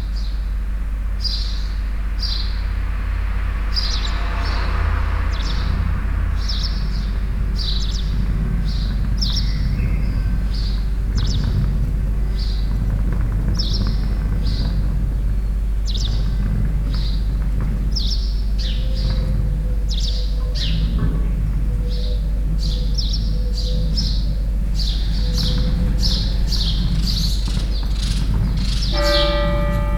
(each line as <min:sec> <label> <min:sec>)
0:00.0 Birds 0:29.9
0:00.0 a few cars 0:29.9
0:28.2 Bells 0:29.9